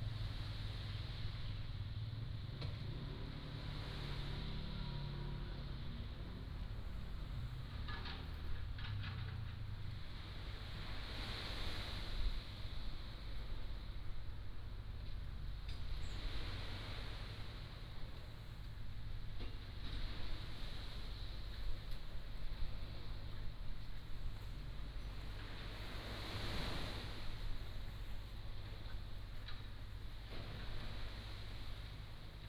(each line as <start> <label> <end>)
0.0 waves 32.4